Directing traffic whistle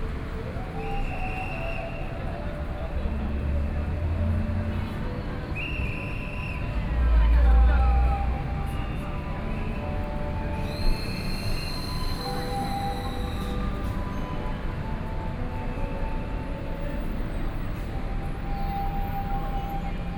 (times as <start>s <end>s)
10.6s 13.7s